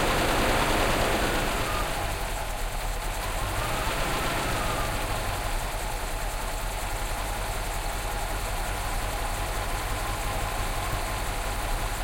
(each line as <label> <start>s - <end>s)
starts his 1975 Mercedes 450 SEL 6.9 liters 0.0s - 12.0s
making the engine rev 3.1s - 5.6s